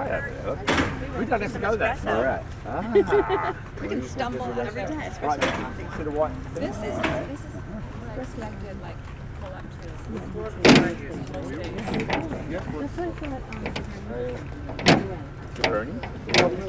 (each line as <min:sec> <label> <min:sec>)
0:00.0 Tourist going out 0:16.6